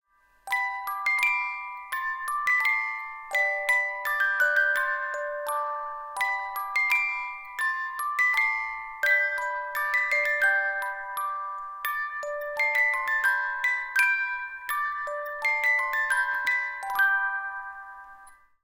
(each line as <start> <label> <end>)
0.1 little clockwork music box 18.6